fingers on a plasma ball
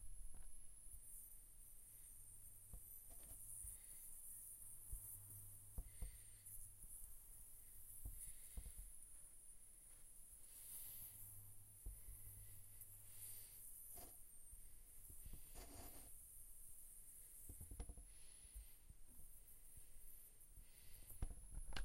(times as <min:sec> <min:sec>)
0:02.1 0:09.0, 0:10.4 0:16.3, 0:17.1 0:19.4